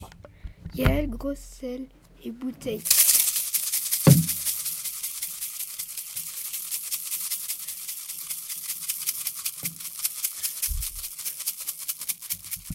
bottle with salt 2.8 - 12.7

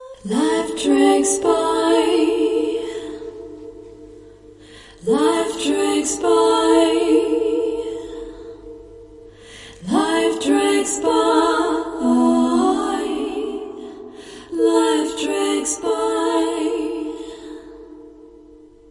Harmonizing vocal tracks 0.0 - 18.9

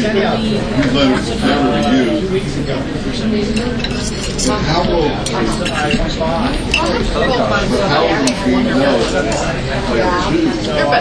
Lively crowd 0.0 - 11.0
dishes 1.4 - 2.6
dishes 3.4 - 7.4
dishes 8.0 - 9.8

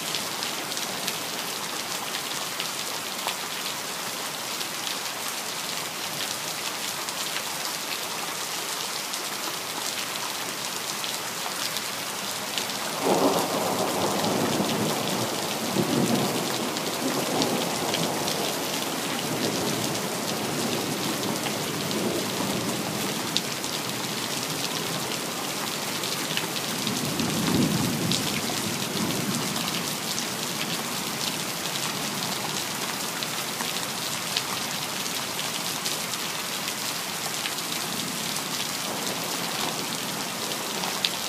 heavy rain 0.0 - 41.2

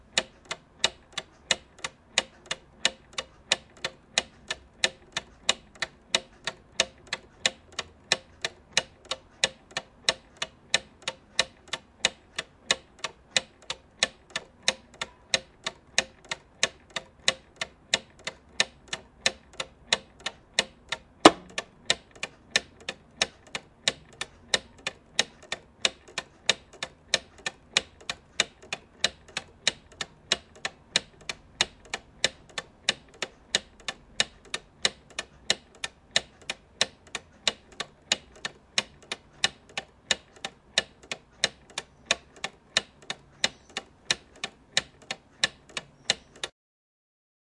plastic clock tick 0.0 - 46.5

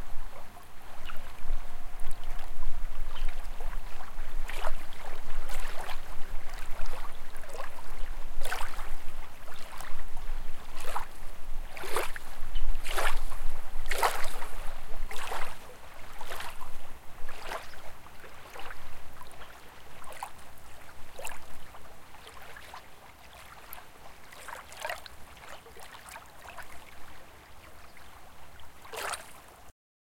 Waves 0.0 - 29.7

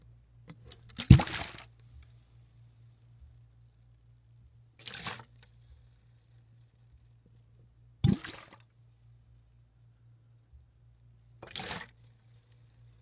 Liquid sloshes in larger bottle 0.9 - 1.7
Liquid sloshes in larger bottle 4.8 - 5.4
Liquid sloshes in larger bottle 8.0 - 8.6
Liquid sloshes in larger bottle 11.4 - 12.0

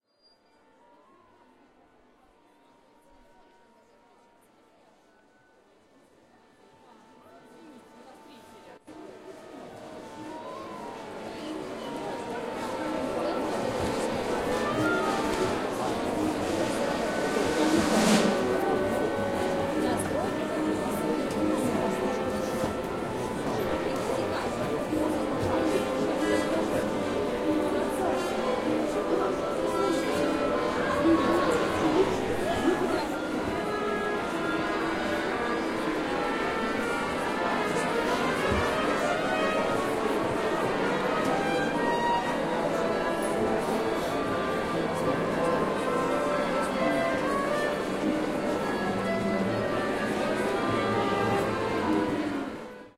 Orchestra tuning 9.0 - 52.9

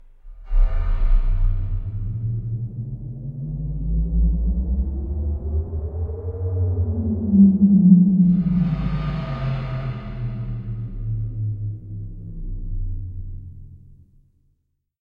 FREQUENCY SWEEP 8.2 - 11.4

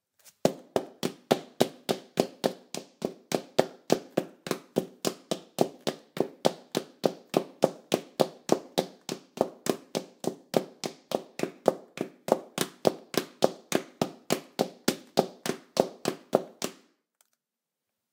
Female in heels running on tile 0.3 - 16.9

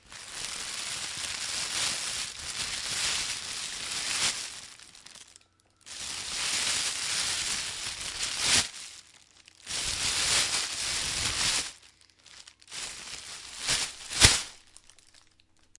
plastic shopping bag 0.0 - 15.7

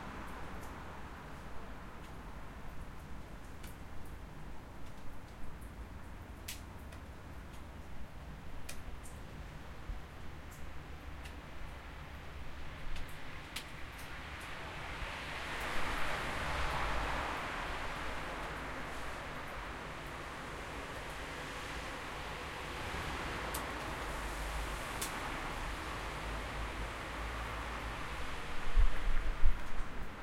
rainy street 0.0 - 30.2

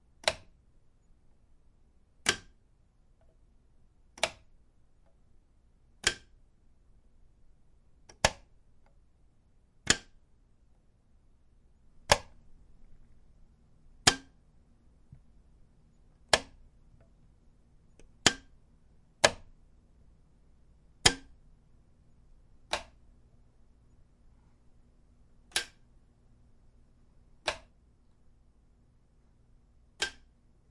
light switch wall on off various 0.0 - 9.1
light switch wall on off various 9.8 - 10.9
light switch wall on off various 11.8 - 19.7
light switch wall on off various 20.9 - 30.7

